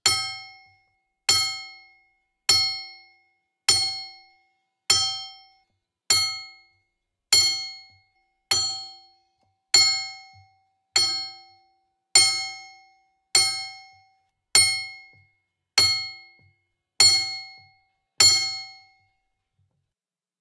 0.0s clinks or clanks made by hitting a crowbar with a hammer 1.9s
3.7s clinks or clanks made by hitting a crowbar with a hammer 4.3s
7.4s clinks or clanks made by hitting a crowbar with a hammer 9.0s
9.8s clinks or clanks made by hitting a crowbar with a hammer 11.6s
12.2s clinks or clanks made by hitting a crowbar with a hammer 12.8s
14.6s clinks or clanks made by hitting a crowbar with a hammer 15.2s
15.8s clinks or clanks made by hitting a crowbar with a hammer 18.9s

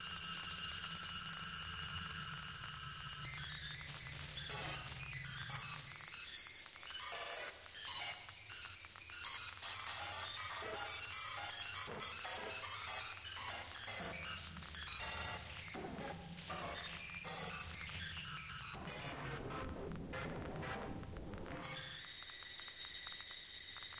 11.1s drone 22.7s
15.8s transposing static noises 22.0s
18.4s synth 22.0s

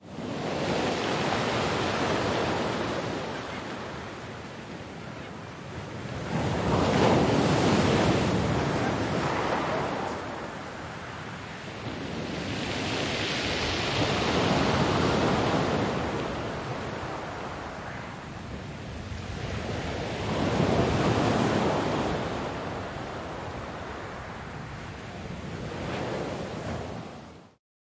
0.0s wind 27.6s
0.1s waves breaking 24.8s
2.6s distant seagulls 4.2s
17.3s distant seagulls 18.3s

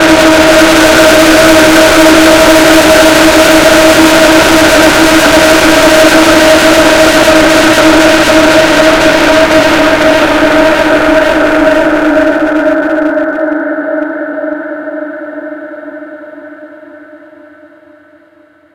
0.0s Creepy Sound 18.0s

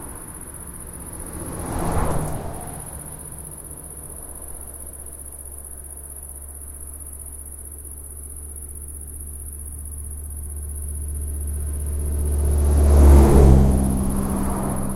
0.0s car pass 6.4s
10.6s car pass 14.9s

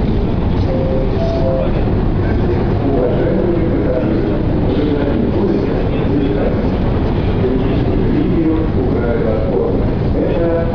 0.0s speakers that like to talk on the escalators 10.7s

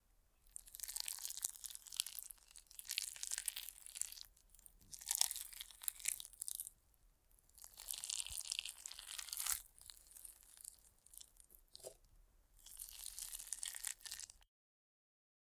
0.4s Squish from a pot of overcooked rice and a spoon 14.4s

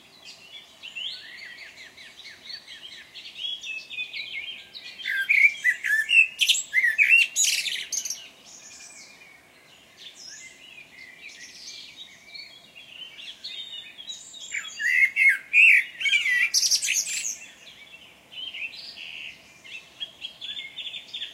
0.0s birds singing 21.3s

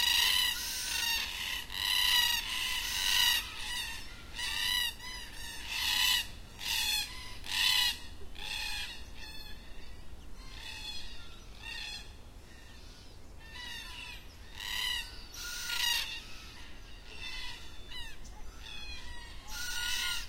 0.0s Black Cockatoos 9.6s
13.4s Black Cockatoos 20.2s

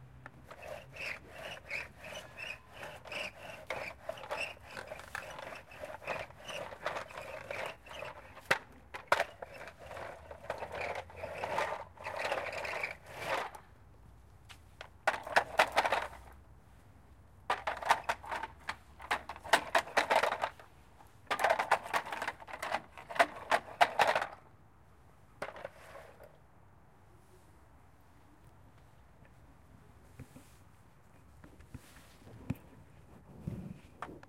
0.2s plastic toy truck is rolled on the ground 13.6s
14.8s plastic toy truck is rolled on the ground 16.4s
17.5s plastic toy truck is rolled on the ground 20.7s
21.3s plastic toy truck is rolled on the ground 24.5s
25.4s plastic toy truck is rolled on the ground 26.4s

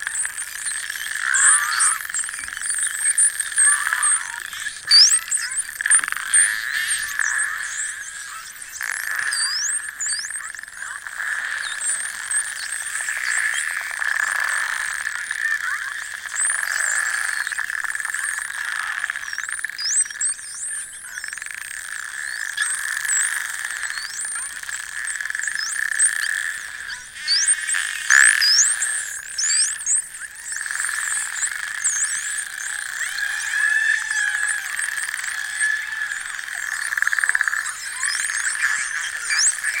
0.0s Atlantic Spotted Dolphins 39.8s

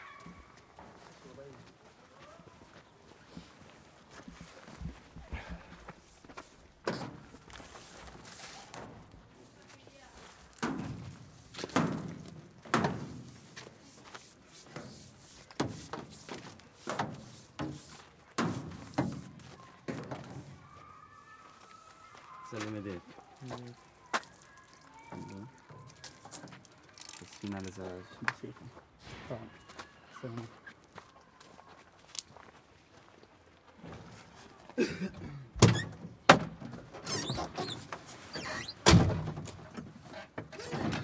35.5s open close truck door 41.0s

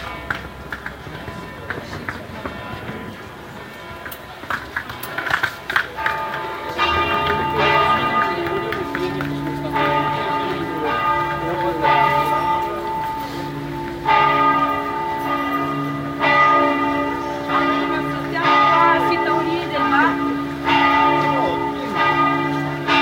0.0s Church bells 23.0s

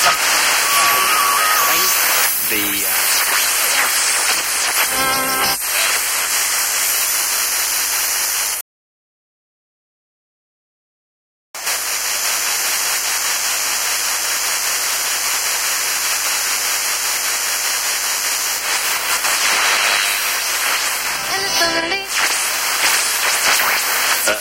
0.0s buzzing 6.0s
0.0s Full radio sweep 7.4s
0.0s static hiss 8.6s
0.0s small clips of various stations 8.6s
11.6s static hiss 24.4s
17.9s small clips of various stations 24.4s
18.5s Full radio sweep 24.4s
18.8s buzzing 24.4s

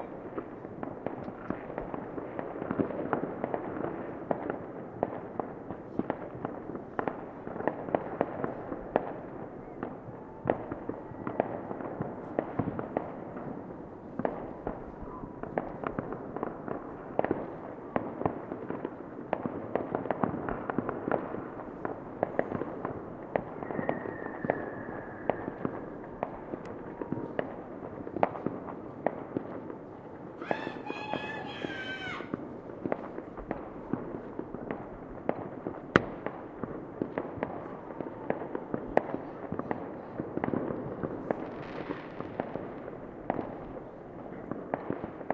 0.0s Fireworks 45.3s
30.4s child suddenly shouting 32.3s

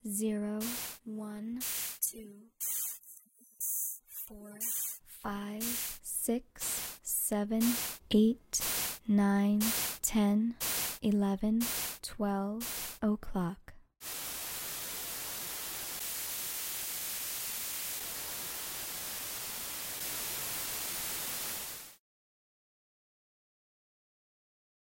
0.0s recorded voice says each hour clockwise 13.8s
0.6s white noise 1.0s
4.6s white noise 5.0s
5.6s white noise 6.0s
6.6s white noise 7.0s
7.6s white noise 8.0s
8.6s white noise 9.0s
10.6s white noise 11.0s
11.6s white noise 12.0s
12.6s white noise 13.0s
14.0s white noise 22.0s

